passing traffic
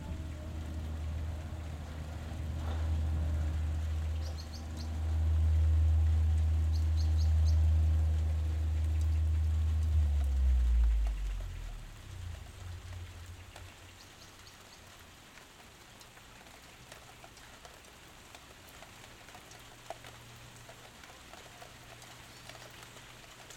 0:00.0 0:14.4

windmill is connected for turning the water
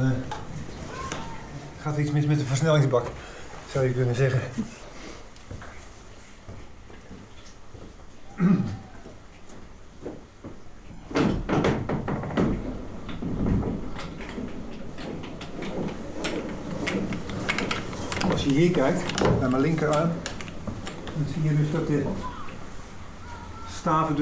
0:11.2 0:24.2

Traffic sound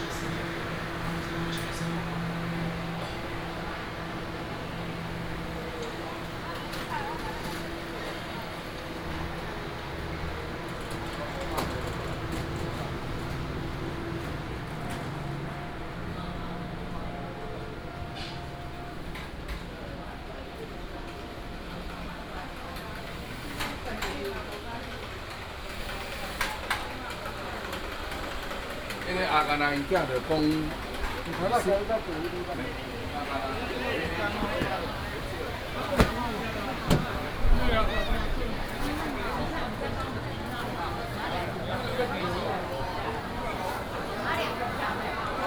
0:00.0 0:19.2, 0:30.8 0:45.4

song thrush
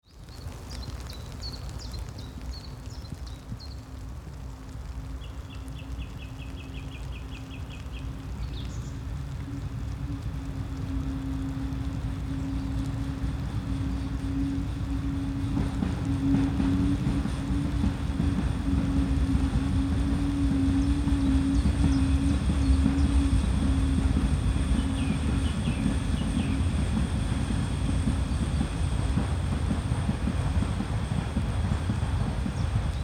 0:04.6 0:29.0

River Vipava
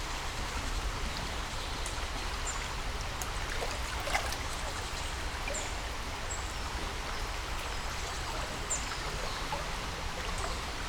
0:02.3 0:10.8

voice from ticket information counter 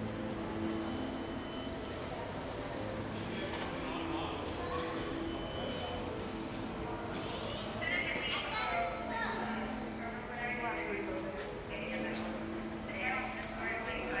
0:07.1 0:14.2

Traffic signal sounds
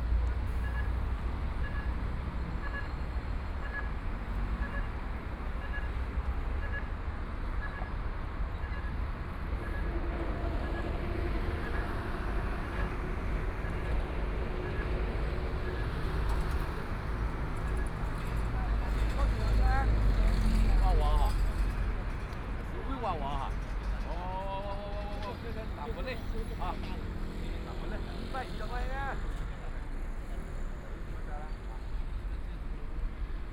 0:00.5 0:06.9

